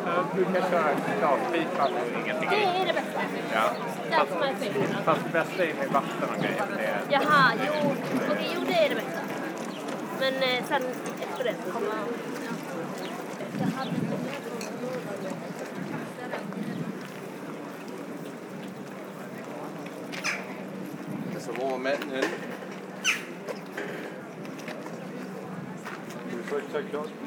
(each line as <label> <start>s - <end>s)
People discussing 0.0s - 27.2s